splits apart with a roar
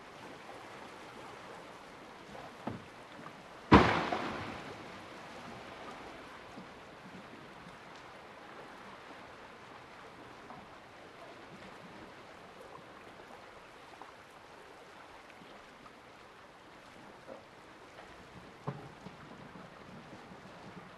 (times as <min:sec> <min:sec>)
0:03.7 0:04.9